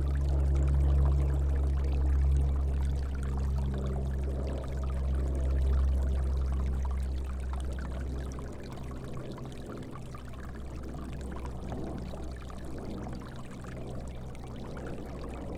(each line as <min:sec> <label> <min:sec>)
0:00.0 Stream 0:15.5